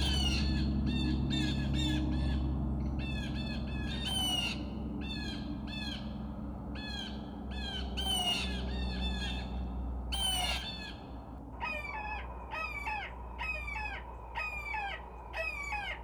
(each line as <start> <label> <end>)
0.0 loudspeakers playing bird predetor and distress calls 2.4
6.8 loudspeakers playing bird predetor and distress calls 9.5
10.1 loudspeakers playing bird predetor and distress calls 11.0
11.6 loudspeakers playing bird predetor and distress calls 16.0